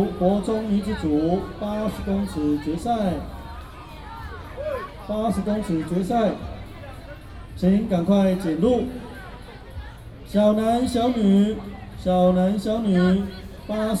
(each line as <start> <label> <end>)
0.0 Walking around the school 14.0